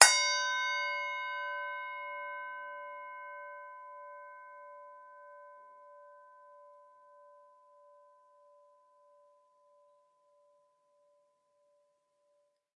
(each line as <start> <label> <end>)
0.0 Tibetan singing bowl struck with hard mallet 4.8